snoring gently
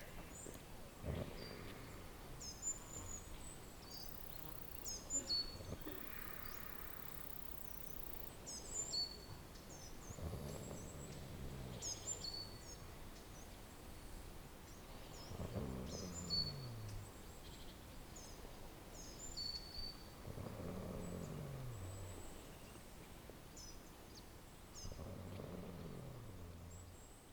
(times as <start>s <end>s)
1.0s 3.3s, 10.0s 12.5s, 15.0s 17.2s, 20.2s 22.6s, 24.8s 27.1s